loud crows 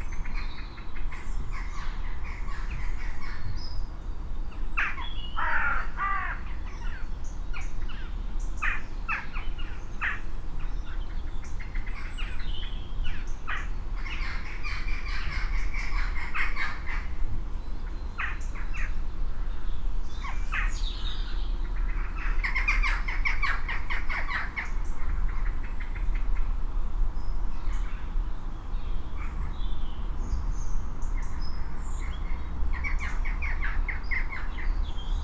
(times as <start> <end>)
4.8 6.5